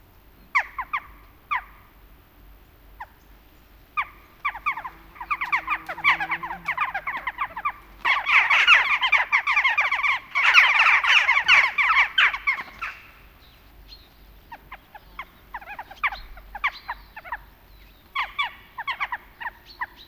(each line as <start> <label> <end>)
0.0 insects 20.0
0.0 small birds 20.0
0.5 small flock of jackdaws 2.0
2.9 small flock of jackdaws 20.0